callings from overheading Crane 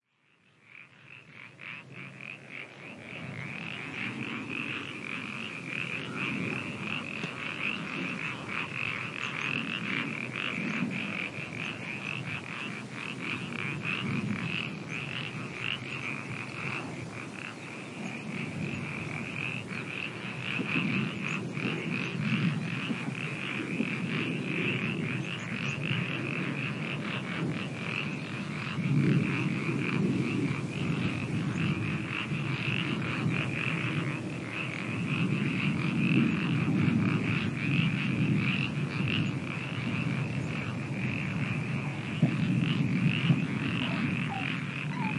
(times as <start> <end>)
43.1 45.1